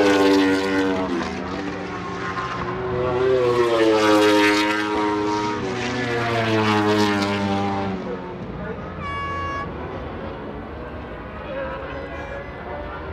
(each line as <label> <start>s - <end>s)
planes flying into East Midlands airport 0.0s - 13.1s
air horns 9.0s - 10.0s